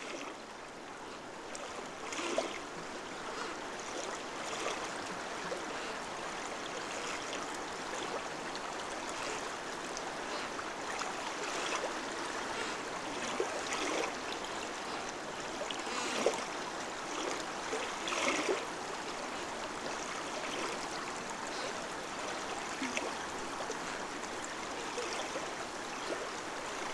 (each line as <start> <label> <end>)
0.0 fallen tree playing with a strong stream 26.9
0.0 flooded river 26.9